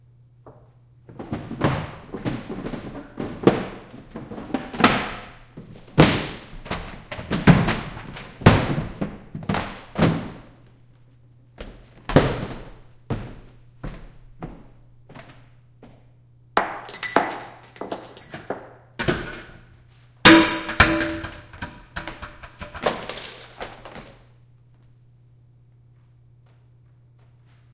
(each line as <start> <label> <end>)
1.0 pushing things around 10.4
1.1 knocking things over 10.5
16.6 tableware 19.5
16.8 silverware 18.5
19.1 pushing things around 24.2
20.2 knocking things over 24.2